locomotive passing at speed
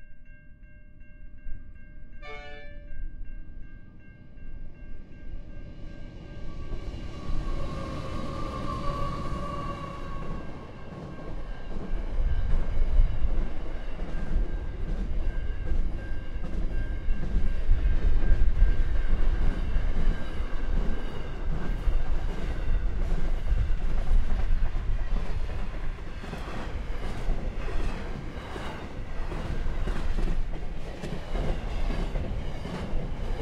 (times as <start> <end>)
6.0 15.9